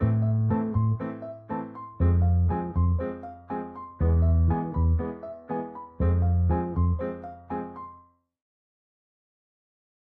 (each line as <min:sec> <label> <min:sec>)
0:00.0 bass 0:01.2
0:00.0 piano 0:08.2
0:02.0 bass 0:05.2
0:06.0 bass 0:07.3